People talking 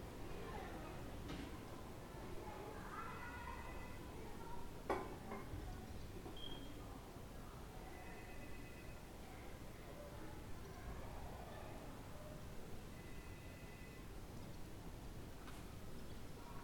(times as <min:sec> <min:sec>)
0:00.2 0:12.5